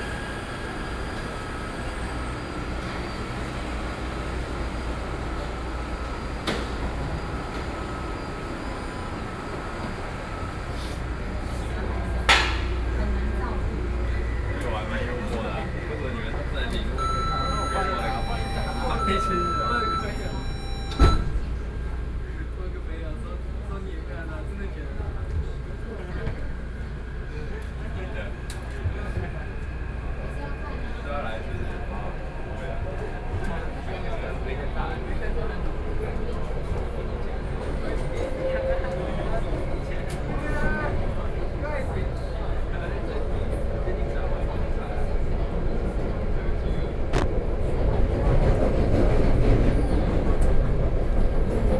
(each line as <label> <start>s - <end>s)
Train stops 0.0s - 22.6s